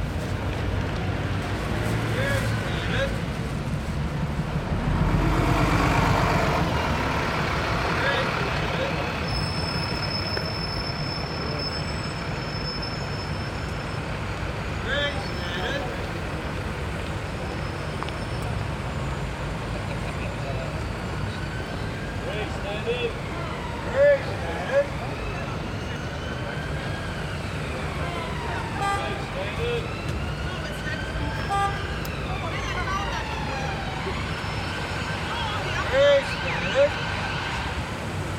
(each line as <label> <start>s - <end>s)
Street cries 0.0s - 38.3s
ambulance 0.0s - 38.3s
traffic 0.0s - 38.3s